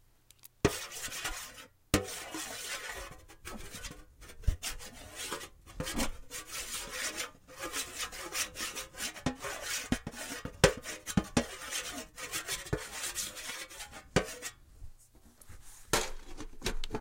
0.6s rubbing a marker over the lid to a cookie tin 16.0s

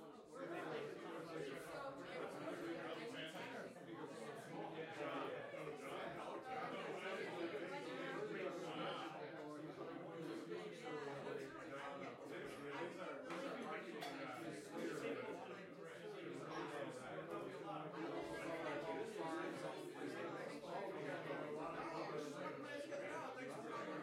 0.0s people talking and laughing 24.0s

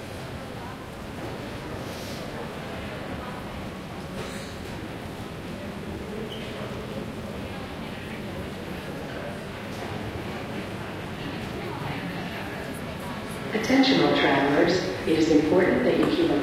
0.0s lots of people around 16.4s
9.6s announcements 16.4s

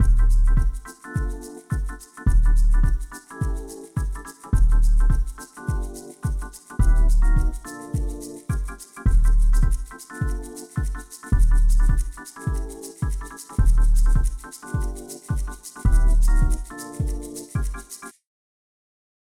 0.0s bass 0.8s
0.0s kicks 17.7s
0.0s keys 18.1s
2.3s bass 3.1s
4.6s bass 5.3s
6.8s bass 7.6s
9.1s bass 9.8s
11.4s bass 12.1s
13.6s bass 14.4s
15.9s bass 16.6s

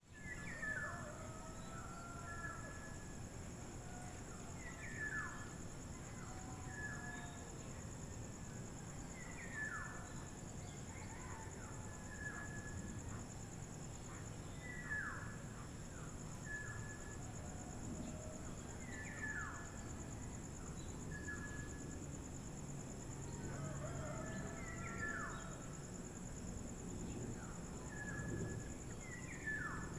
0.0s cicadas 29.9s
0.0s crickets 29.9s
0.1s dawn chorus from local birds 8.0s
8.8s dawn chorus from local birds 22.0s
23.1s dawn chorus from local birds 26.3s
23.3s roosters 25.7s
23.4s dogs barking in the distance 25.6s
27.0s dawn chorus from local birds 29.9s

